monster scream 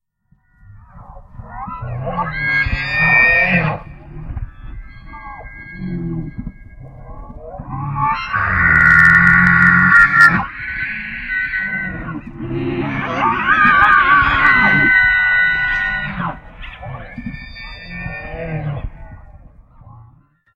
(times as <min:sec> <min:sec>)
0:01.6 0:04.2, 0:07.4 0:18.9